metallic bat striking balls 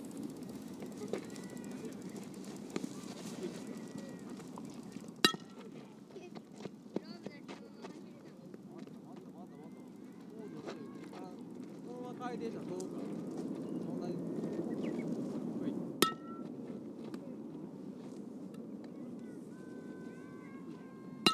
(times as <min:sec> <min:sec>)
0:05.2 0:05.6, 0:16.0 0:16.4